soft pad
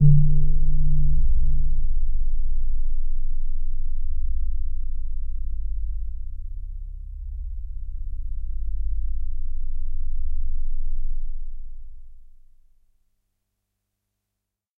0.0 3.5

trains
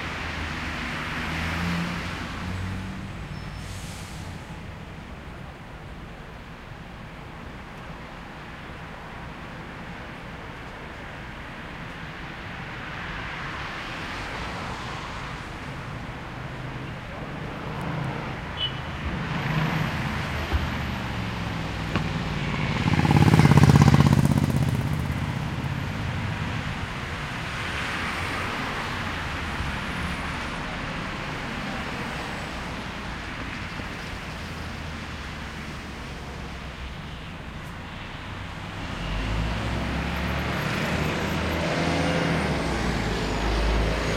3.3 5.8

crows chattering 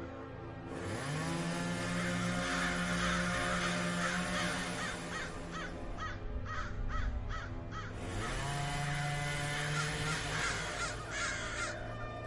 2.0 8.5, 9.5 11.8

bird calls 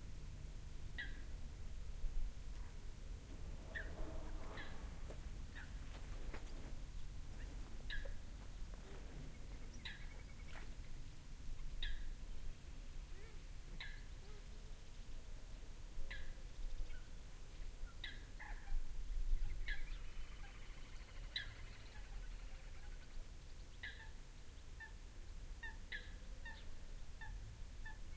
3.3 6.5, 7.3 8.3, 9.2 11.0

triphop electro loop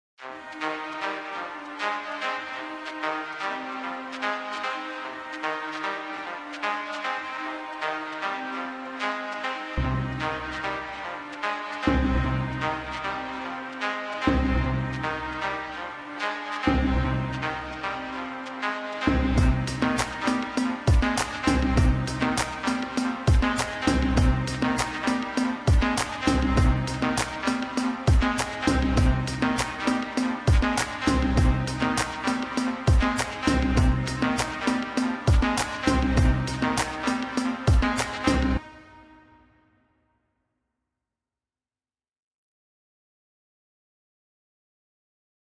16.7 38.6

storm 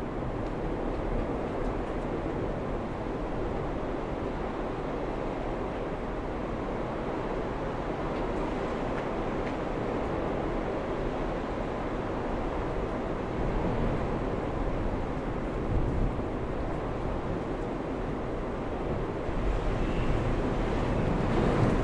12.2 21.8

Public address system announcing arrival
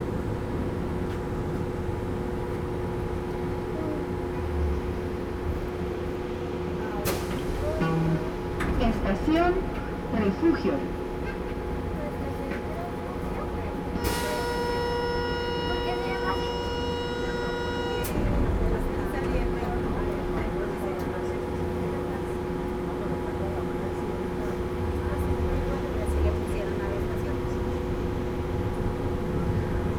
7.0 22.2

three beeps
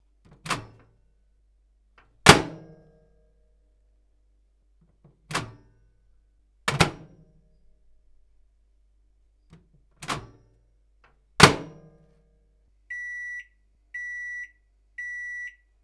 12.9 15.6

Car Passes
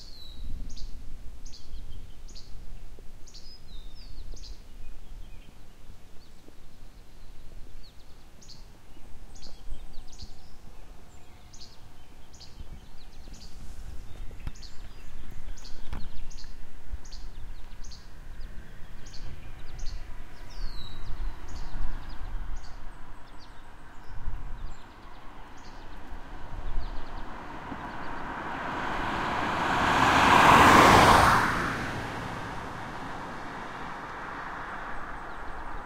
19.6 35.8

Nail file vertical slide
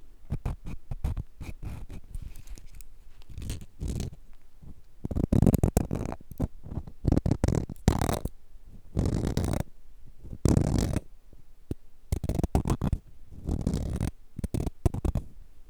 0.4 4.2, 9.0 9.6, 12.2 15.2

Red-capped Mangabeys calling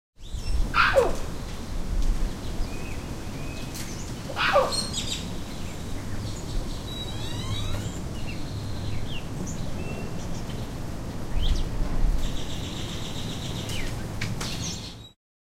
0.7 1.4, 4.3 5.3

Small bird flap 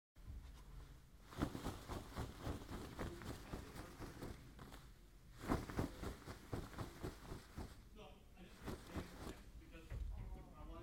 1.3 7.8, 8.5 9.4

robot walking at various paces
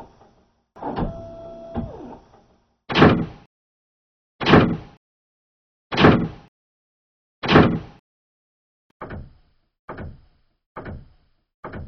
9.0 11.8

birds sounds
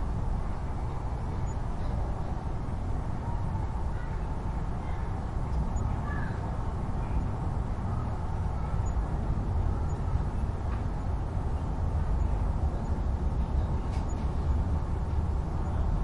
3.9 14.7

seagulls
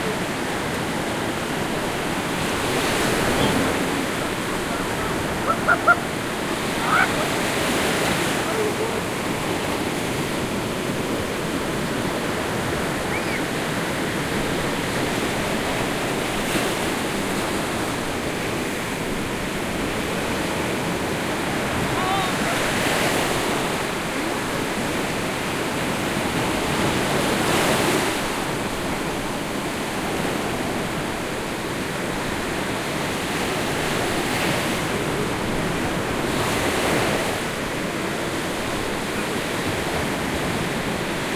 4.6 7.4, 13.0 13.5

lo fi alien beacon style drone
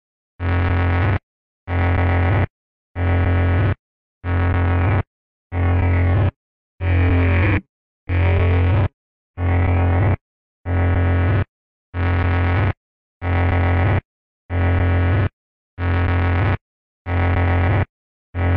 4.8 8.8

